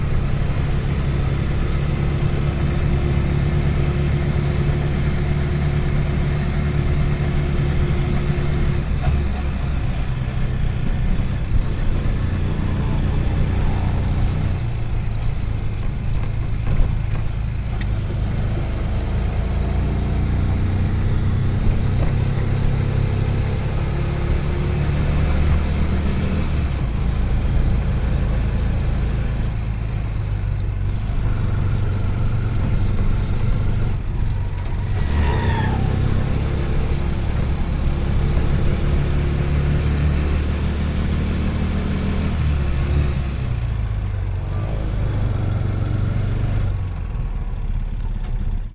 RICKSHAW ENGINE ONBOARD RUN 0.0 - 48.7

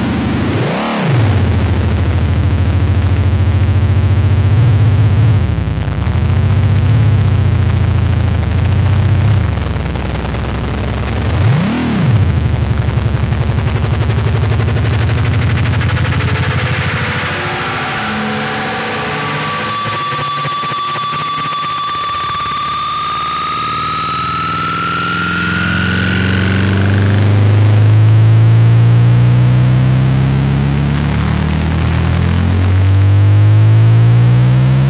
guitar feedback 0.0 - 34.8

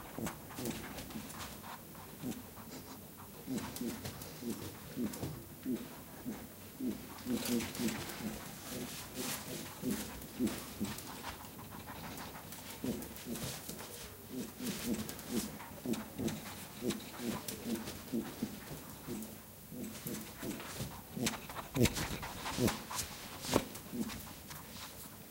pet rabbit runs in circles around the mics 6.9 - 25.3

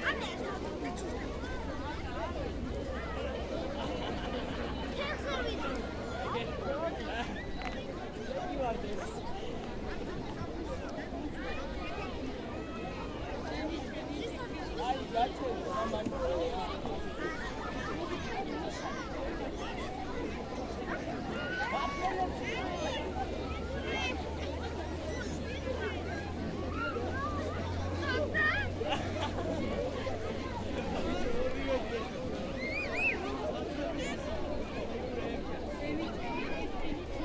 Lot's of people 0.0 - 37.2

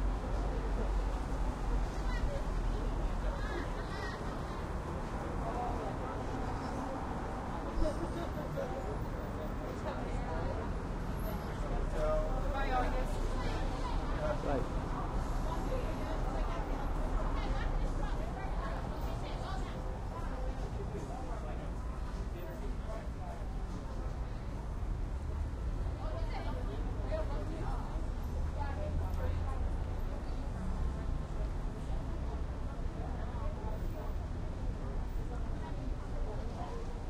traffic 0.0 - 37.0

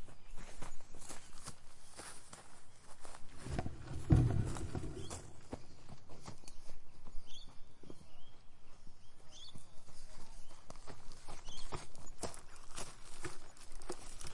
wind 0.0 - 14.3
birds 0.1 - 14.3
walking 3.0 - 6.0

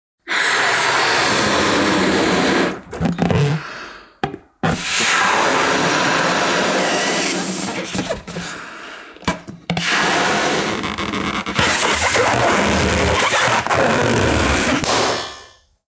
Baloon 0.2 - 8.6
Baloon 9.8 - 15.6

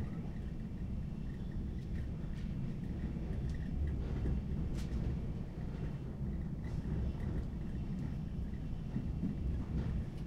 inside train sounds 0.0 - 10.2

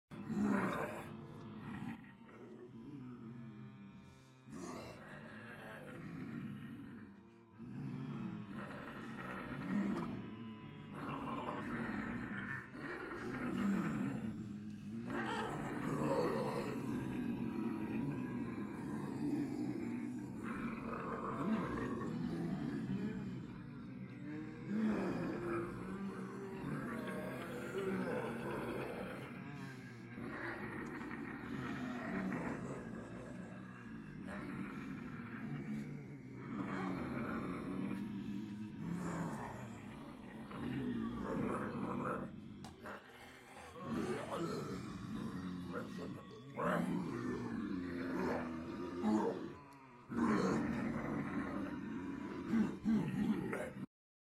people pretending to be zombies 0.0 - 53.9

